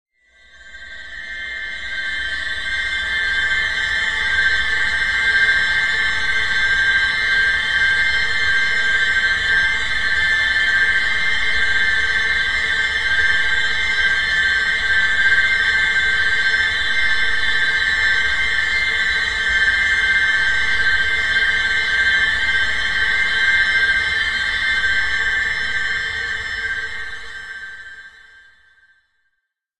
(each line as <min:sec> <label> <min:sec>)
0:00.3 High Drone 0:28.5